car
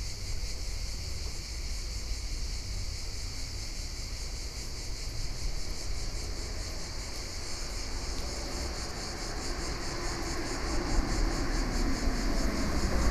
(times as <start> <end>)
5.4 13.1